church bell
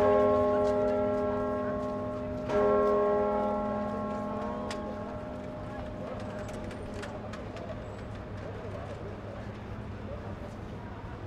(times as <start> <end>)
0.0 7.6